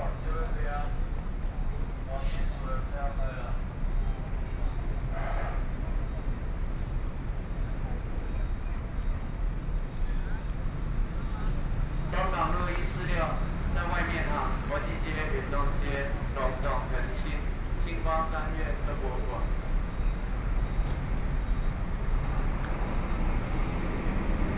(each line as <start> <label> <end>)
0.0 Traffic Noise 24.5
12.1 Public broadcasting station 19.6